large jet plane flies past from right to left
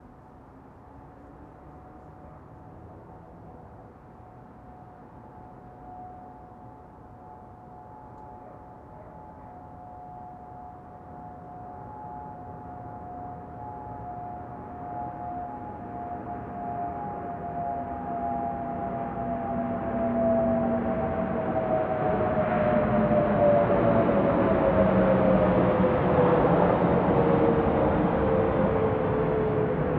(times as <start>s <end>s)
13.9s 29.9s